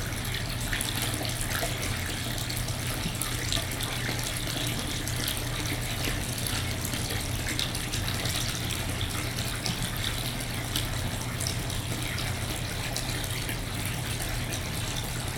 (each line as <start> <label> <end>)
0.0 stream runs through a resonant tunnel 15.3